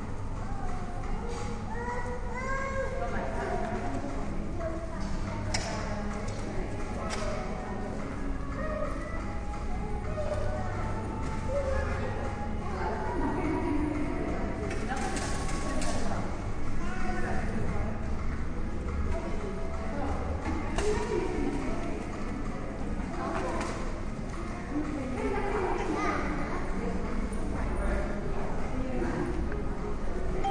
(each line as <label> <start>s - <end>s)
voices of children 0.0s - 17.6s
voices of children 23.0s - 27.4s
soft music 30.1s - 30.5s